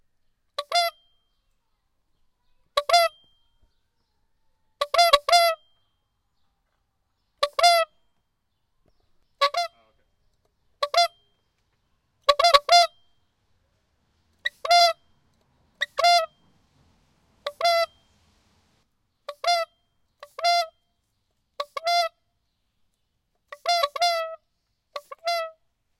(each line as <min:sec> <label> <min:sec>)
0:04.8 bicycle horn toots 0:05.7
0:07.4 bicycle horn toots 0:08.0
0:12.2 bicycle horn toots 0:13.0
0:14.4 bicycle horn toots 0:16.8
0:17.4 bicycle horn toots 0:18.5
0:19.3 bicycle horn toots 0:20.8
0:23.6 bicycle horn toots 0:24.4